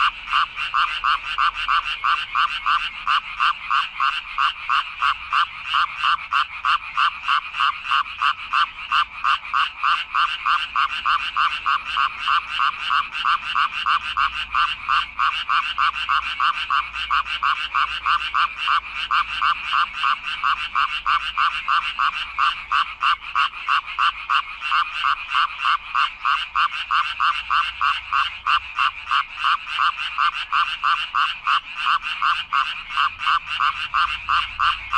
0.0s frogs in a drain 34.9s

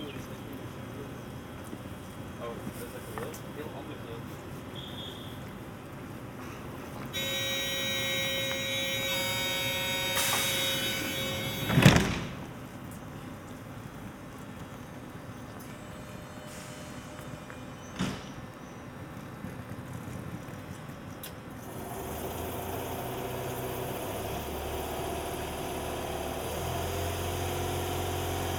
12.3s Trains passing by 19.5s

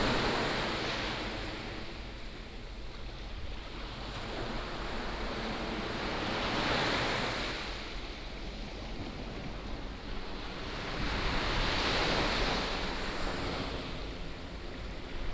0.0s waves 15.3s

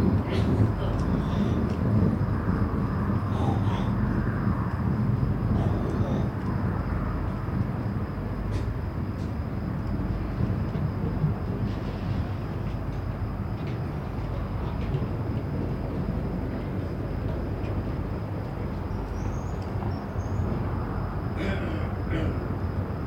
10.0s people leaving boats 23.0s

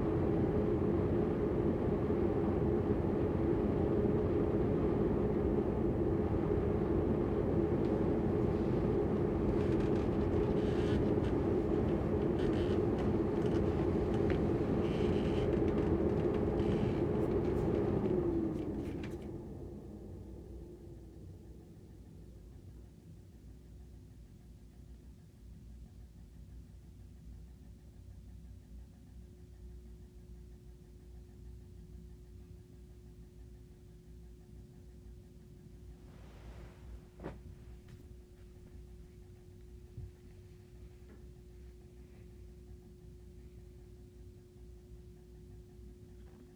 0.0s Bedroom heating vent 22.5s
35.6s Bedroom heating vent 46.5s

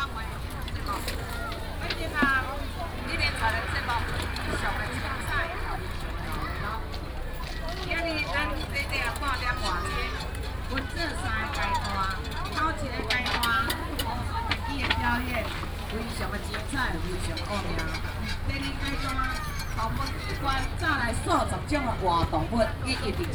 0.0s vendors peddling 23.3s

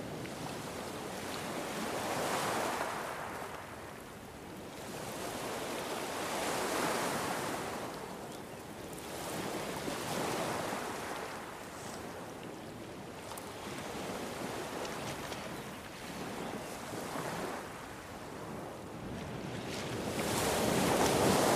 0.0s Waves of the eastern beach 21.5s

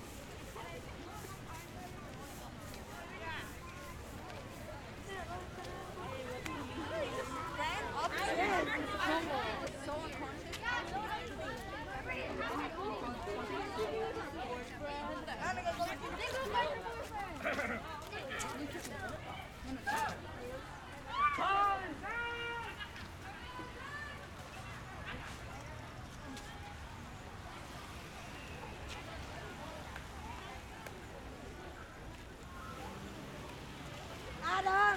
0.0s students return home 34.9s

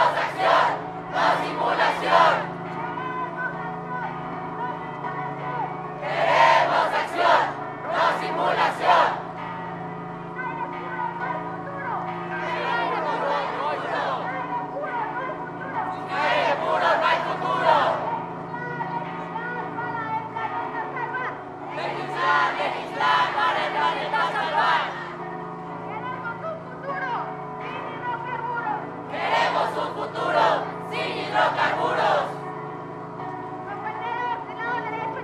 0.0s étudiants manifestent pour le respect et la protection de la planète 2.6s
6.0s étudiants manifestent pour le respect et la protection de la planète 9.3s
12.4s étudiants manifestent pour le respect et la protection de la planète 14.6s
15.7s étudiants manifestent pour le respect et la protection de la planète 18.2s
21.7s étudiants manifestent pour le respect et la protection de la planète 25.2s
29.1s étudiants manifestent pour le respect et la protection de la planète 32.4s

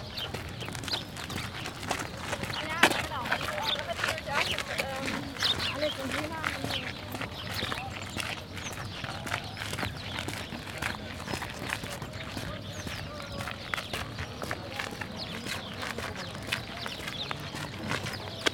0.0s birds 18.5s
0.0s conversations 18.5s

